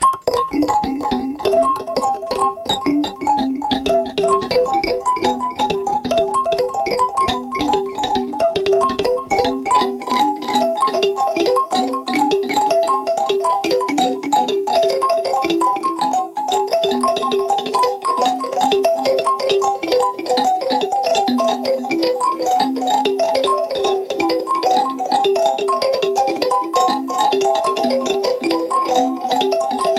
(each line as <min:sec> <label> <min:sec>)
0:00.0 Mouth Blip Blops 0:04.8
0:00.0 atonal melodies 0:29.9
0:00.0 bells 0:29.9